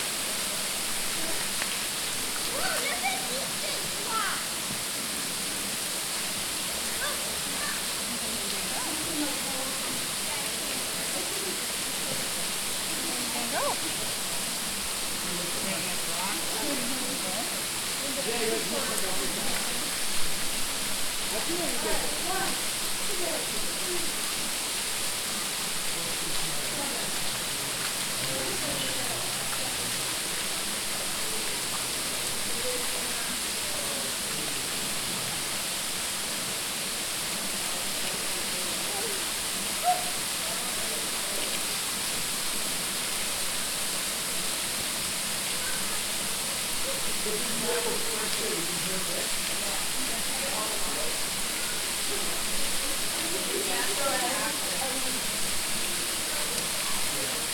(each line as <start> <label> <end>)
0.0 Families taking pictures and playing in the water 57.5